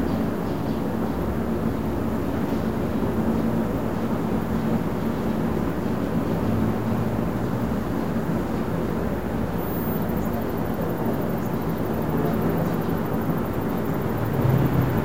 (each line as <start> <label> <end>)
6.4 cars 15.0